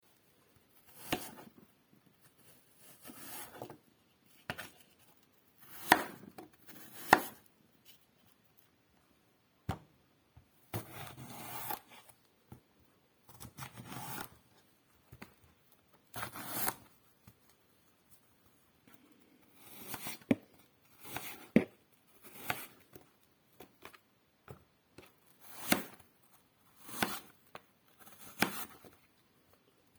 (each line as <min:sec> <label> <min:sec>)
0:00.8 Chopping an apple into wedges on a chopping board 0:01.6
0:02.8 Chopping an apple into wedges on a chopping board 0:03.8
0:05.6 Chopping an apple into wedges on a chopping board 0:07.5
0:10.7 Chopping an apple into wedges on a chopping board 0:12.0
0:13.3 Chopping an apple into wedges on a chopping board 0:14.3
0:16.2 Chopping an apple into wedges on a chopping board 0:16.8
0:19.6 Chopping an apple into wedges on a chopping board 0:22.8
0:25.4 Chopping an apple into wedges on a chopping board 0:26.0
0:26.8 Chopping an apple into wedges on a chopping board 0:27.3
0:28.0 Chopping an apple into wedges on a chopping board 0:29.0